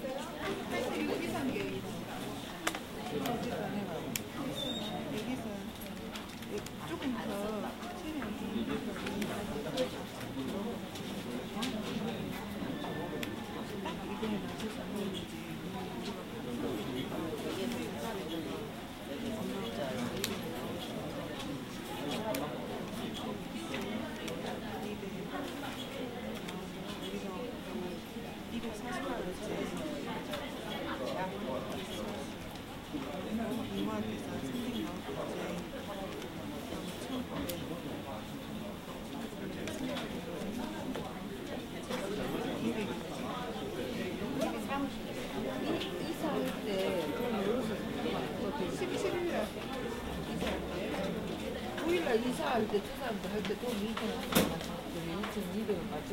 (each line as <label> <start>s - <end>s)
Korean chatter 0.0s - 56.1s